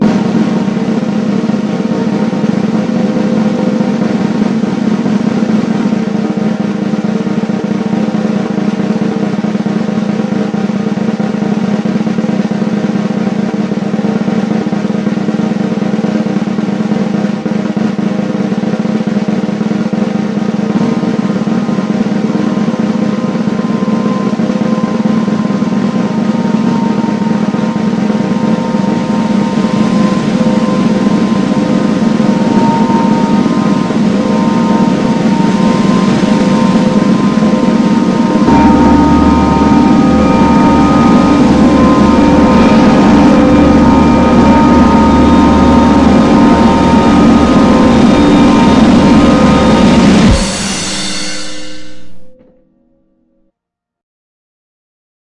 Drum Roll 0.0 - 52.4
cymbal crash at the end 19.1 - 52.5

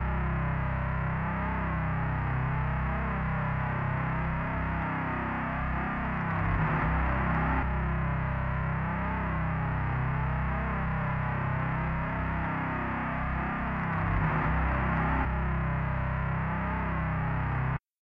guitar 0.0 - 17.8

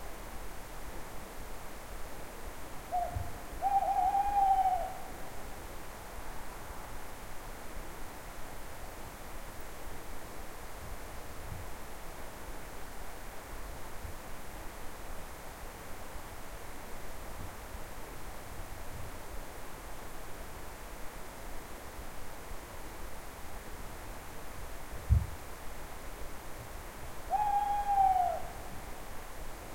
owl 2.9 - 5.2
owl 27.3 - 28.8

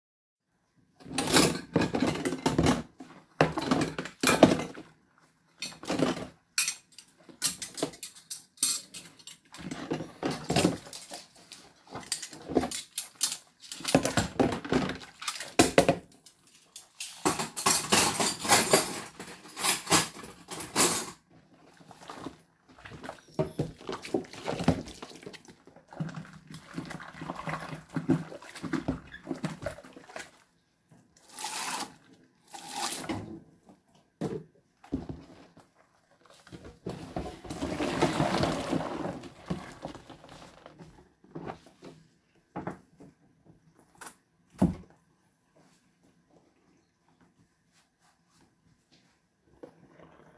Washing up, rinsing, draining 0.9 - 46.6
cutlery 6.6 - 9.4
Washing up, rinsing, draining 49.3 - 50.3

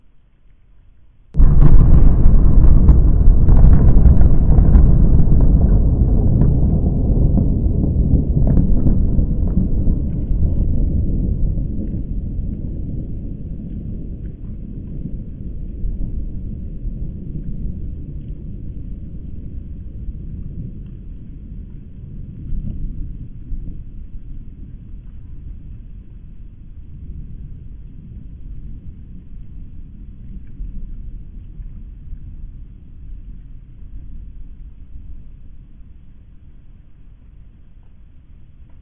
atomic bomb 1.4 - 10.4

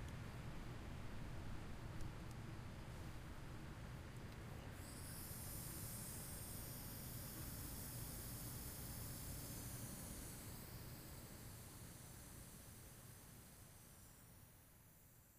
faint sound of daytime crickets 4.6 - 15.3

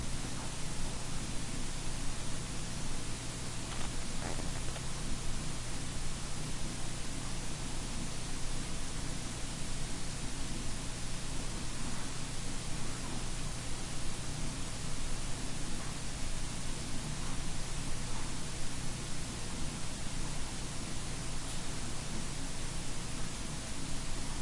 laptop soundcard is noisy 0.0 - 24.4

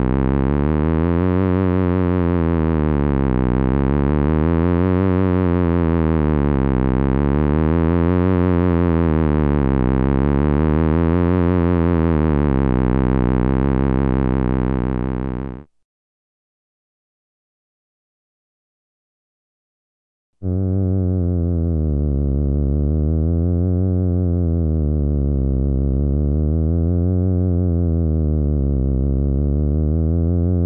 genuine theremin 20.4 - 30.6

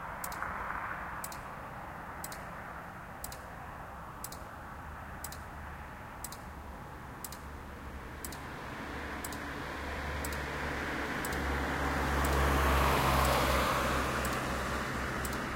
pedestrian traffic-light 0.0 - 15.5
single cars 0.0 - 15.5

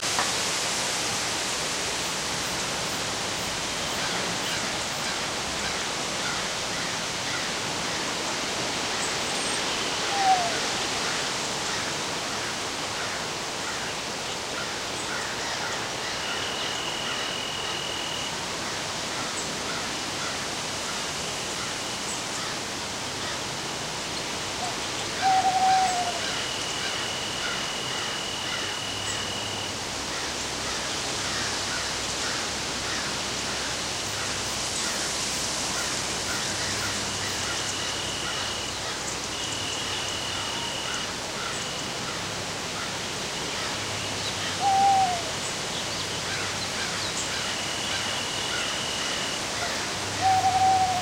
steady, light wind 0.0 - 51.0
birds 42.8 - 51.0

